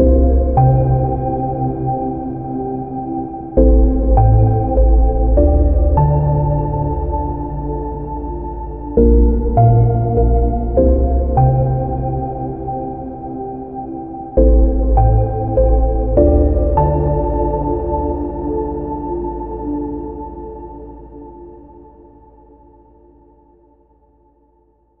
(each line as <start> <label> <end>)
0.0 synthesizer 25.0